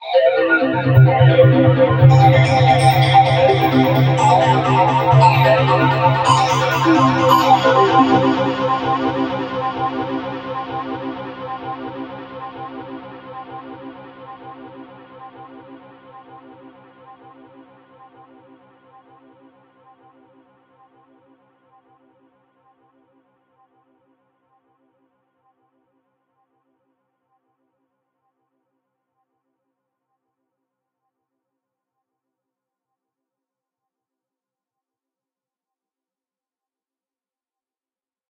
short drone from a synthesizer 0.5 - 14.8

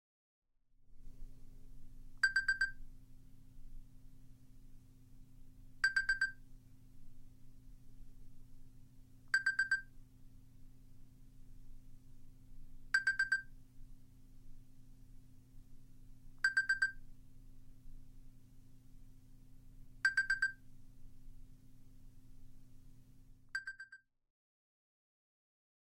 Cellphone alarm 2.2 - 2.8
Cellphone alarm 5.8 - 6.4
Cellphone alarm 9.3 - 9.9
Cellphone alarm 13.0 - 13.5
Cellphone alarm 16.4 - 17.0
Cellphone alarm 20.0 - 20.6
Cellphone alarm 23.6 - 24.0

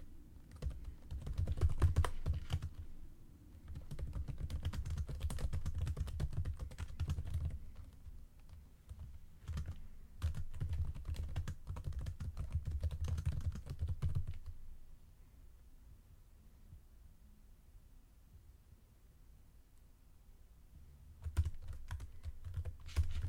Typing quickly on a computer 0.5 - 2.8
Typing quickly on a computer 3.7 - 14.6
Typing quickly on a computer 21.2 - 23.2

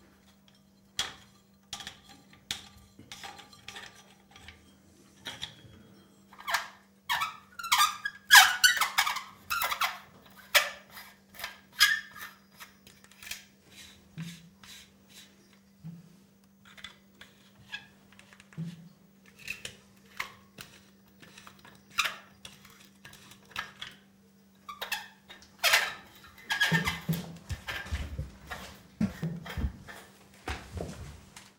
squeaks 6.4 - 13.2
squeaks 24.7 - 27.2

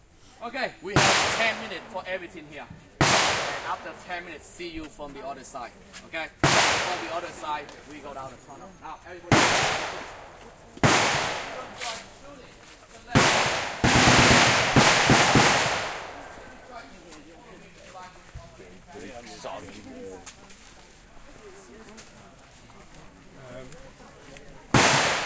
real rounds of AK47, M16, M60 0.9 - 4.5
real rounds of AK47, M16, M60 6.4 - 8.2
real rounds of AK47, M16, M60 9.2 - 12.4
real rounds of AK47, M16, M60 13.1 - 16.8
real rounds of AK47, M16, M60 24.7 - 25.2

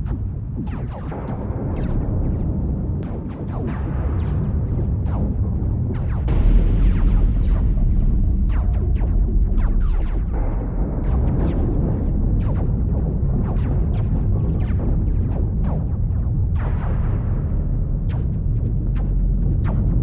Low huge rumble 4.3 - 20.0

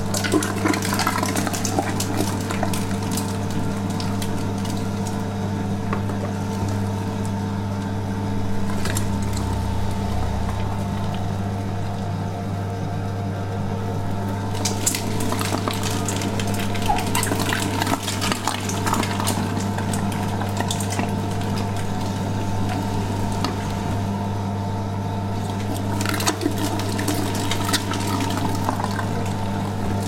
Meat Grinder 0.0 - 7.9
Meat Grinder 14.1 - 24.2
Meat Grinder 25.4 - 30.0

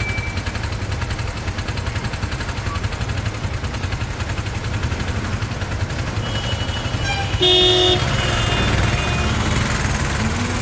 cars 0.0 - 10.6
mopeds 0.0 - 10.6
motorcycles 0.0 - 10.6
trucks 0.0 - 10.6

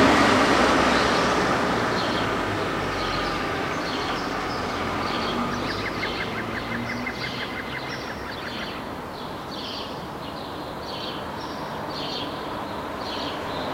cars 0.0 - 13.7
birds 0.9 - 13.7

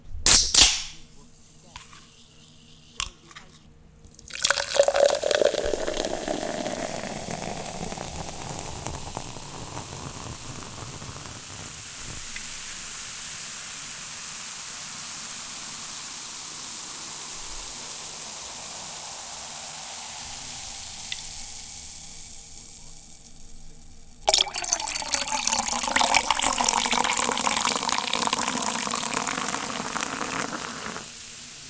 Opening soda can 0.3 - 1.0
Opening soda can 4.0 - 12.5
pouring soda 4.0 - 31.6
Opening soda can 24.2 - 31.1

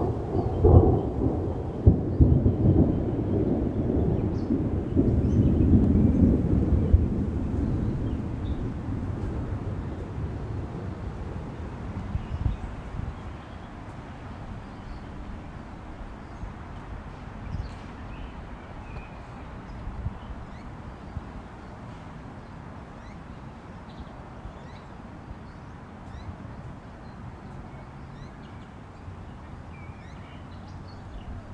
distant thunder 0.0 - 13.4
light rain 0.0 - 31.5
birds 12.0 - 31.5

